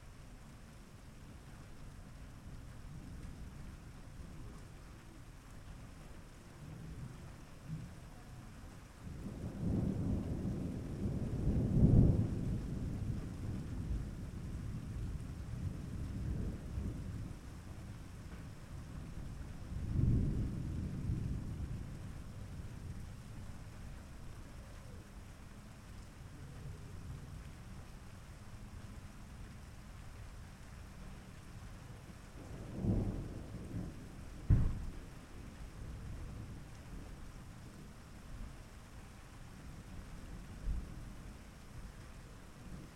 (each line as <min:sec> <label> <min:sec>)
0:00.0 rain 0:42.9
0:09.1 Thunder 0:17.4
0:32.4 Thunder 0:35.5